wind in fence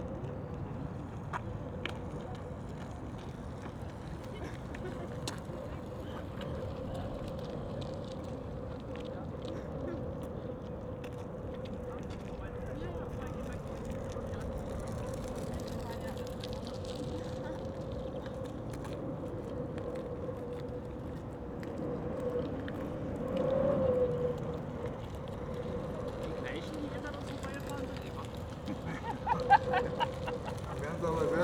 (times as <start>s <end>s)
19.0s 31.4s